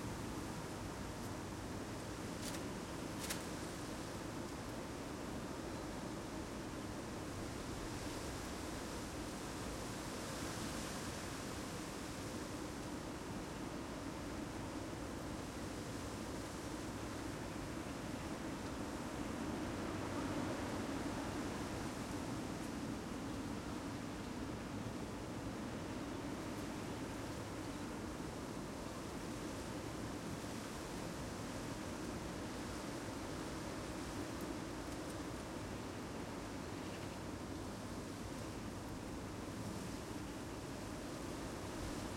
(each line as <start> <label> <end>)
38.6 wind blowing through the trees 42.1